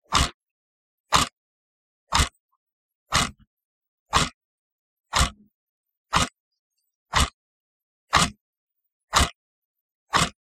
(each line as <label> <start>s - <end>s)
Clock 0.0s - 0.4s
Clock 1.0s - 1.4s
Clock 2.1s - 3.5s
Clock 4.1s - 7.4s
Clock 8.1s - 10.4s